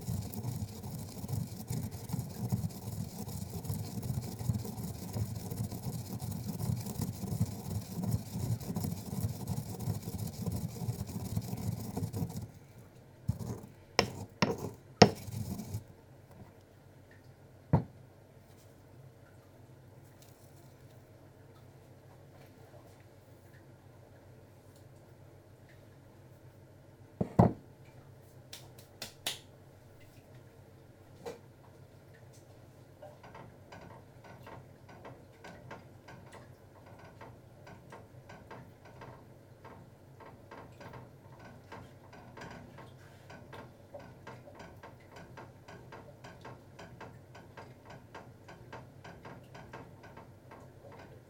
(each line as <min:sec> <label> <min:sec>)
0:33.0 noise of the dishwasher 0:51.2